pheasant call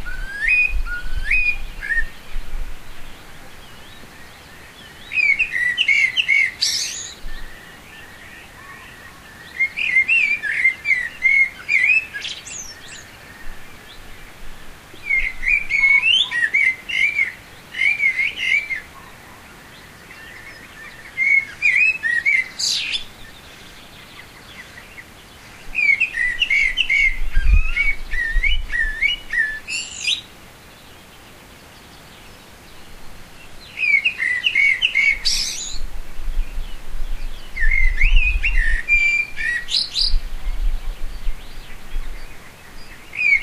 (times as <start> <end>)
3.3 13.9, 15.0 30.3, 33.6 35.9, 37.5 43.4